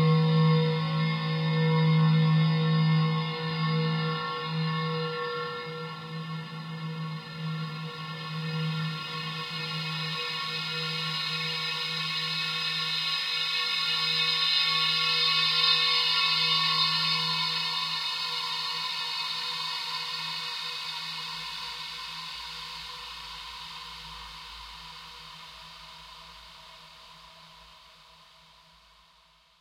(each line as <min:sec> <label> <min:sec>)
0:00.0 powerful, tuned drone in A minor 0:23.3